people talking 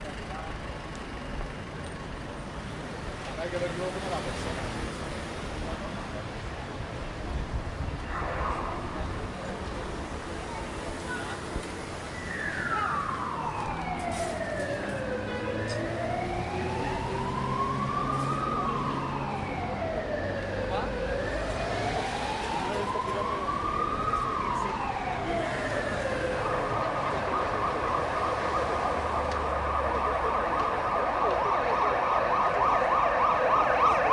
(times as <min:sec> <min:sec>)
0:21.7 0:28.9